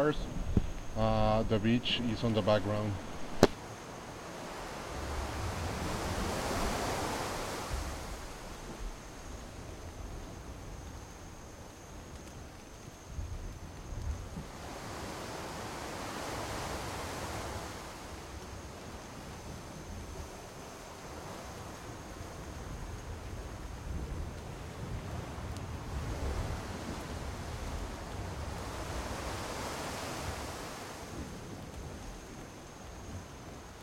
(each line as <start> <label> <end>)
0.0 waves in the background 33.8
0.0 wind 33.8